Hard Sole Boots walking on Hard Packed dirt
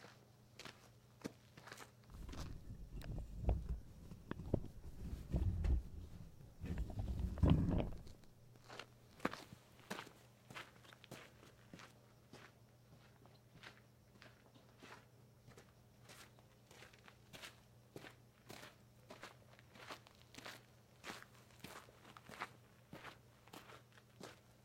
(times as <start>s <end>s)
0.6s 12.5s